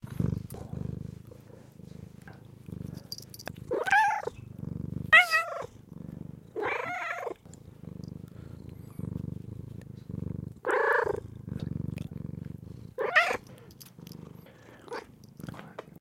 gentle purring 0:00.0 - 0:16.0
meowing 0:03.7 - 0:04.4
meowing 0:05.1 - 0:05.7
meowing 0:06.6 - 0:07.4
meowing 0:10.6 - 0:11.2
meowing 0:13.0 - 0:13.4

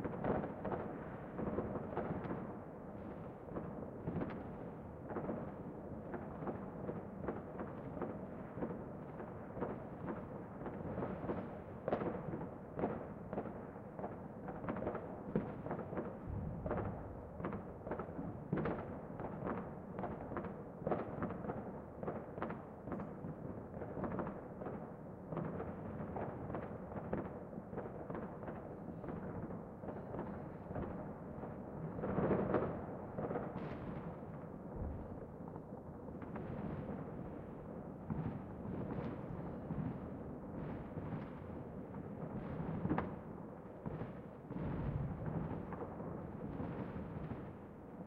Close and echoy distant fireworks 0:00.0 - 0:48.0

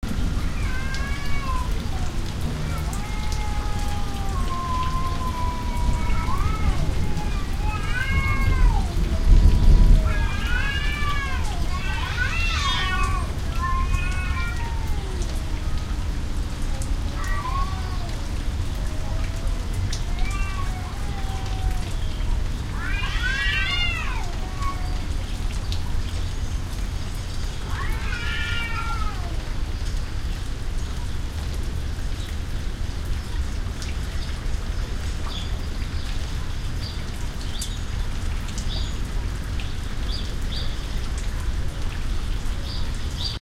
rain 0:00.0 - 0:43.4
thunder 0:08.0 - 0:11.1

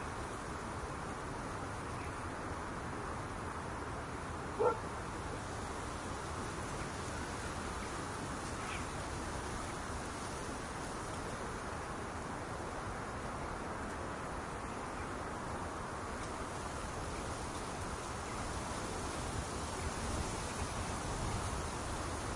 grass 0:00.0 - 0:22.3
insects 0:00.0 - 0:22.3
dog 0:04.6 - 0:04.8

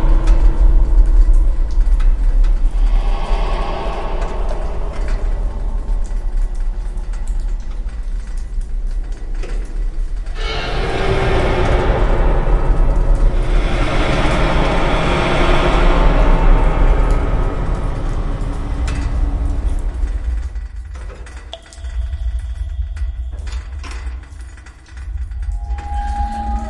Steam 0:02.1 - 0:08.0
Steam 0:10.3 - 0:20.4

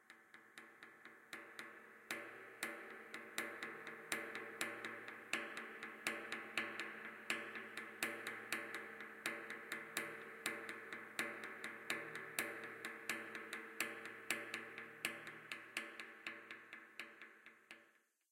empty propane tank being repeatedly struck by a tree branch 0:00.0 - 0:17.8

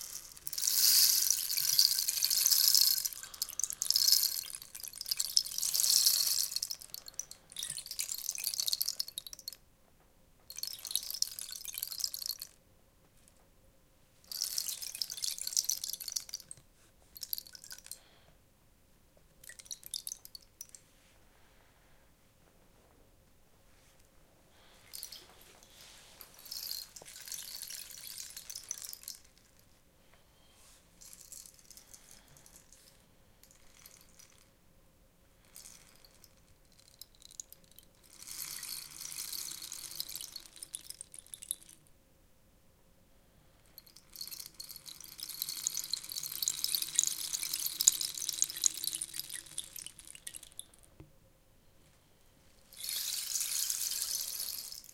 Rain stick 0:00.0 - 0:09.5
Rain stick 0:24.9 - 0:25.3
Rain stick 0:26.2 - 0:29.4
Rain stick 0:38.1 - 0:41.7
Rain stick 0:43.9 - 0:50.7
Rain stick 0:52.7 - 0:54.9

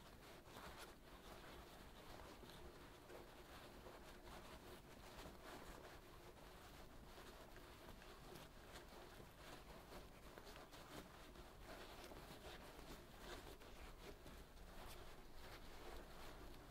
Rustle of rough fabric 0:00.0 - 0:16.7

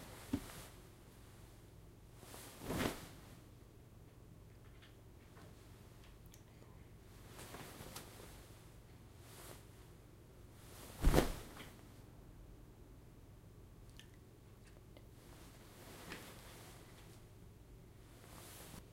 Silk dress flopping down into chair 0:10.9 - 0:11.6

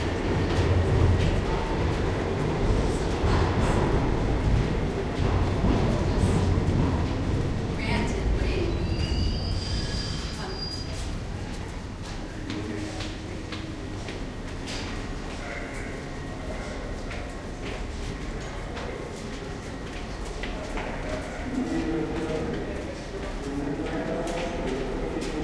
trains passby bassy 0:00.0 - 0:25.4

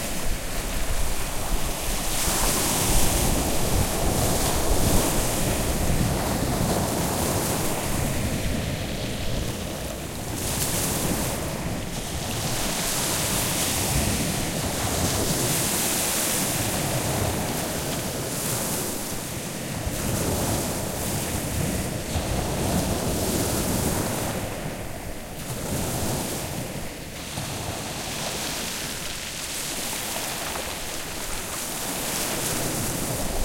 waves on pebble beach 0:00.0 - 0:33.4

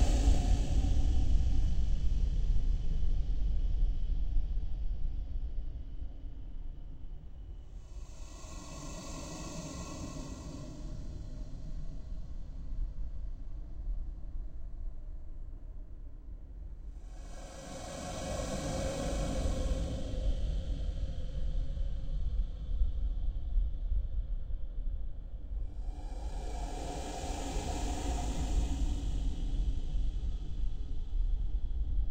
Cave Drone 0:00.0 - 0:01.8
Cave Drone 0:07.7 - 0:13.6
Cave Drone 0:16.9 - 0:22.6
Cave Drone 0:25.4 - 0:32.1

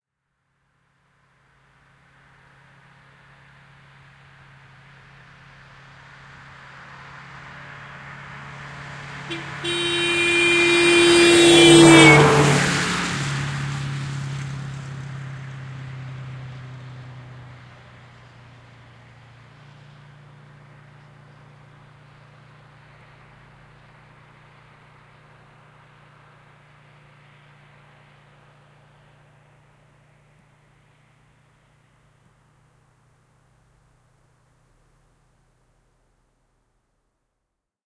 car passing by 0:01.5 - 0:32.7
horn honking 0:09.3 - 0:13.1

